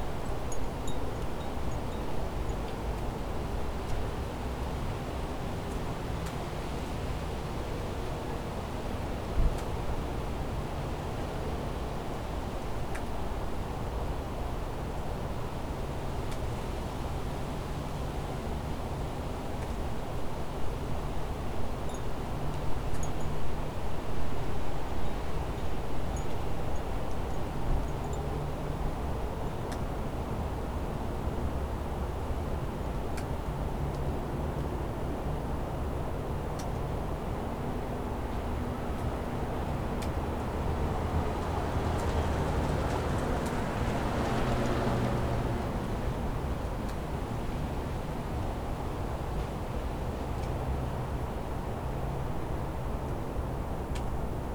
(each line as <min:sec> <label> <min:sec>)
0:36.6 vehicles 0:53.1